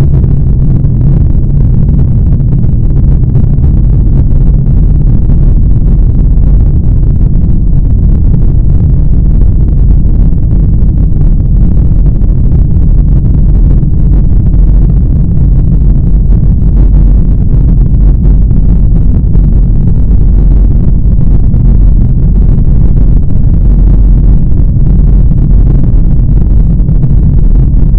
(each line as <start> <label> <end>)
0.0 Heavy Rumble of a rocket thrust 27.9